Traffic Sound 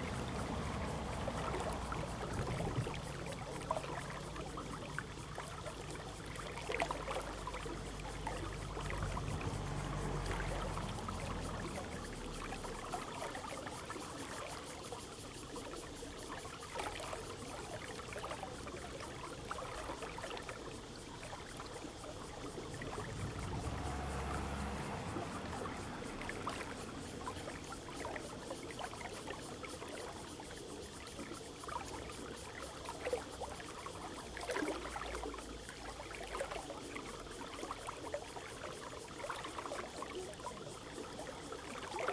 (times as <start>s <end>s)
0.0s 5.3s, 5.9s 13.1s, 21.9s 28.1s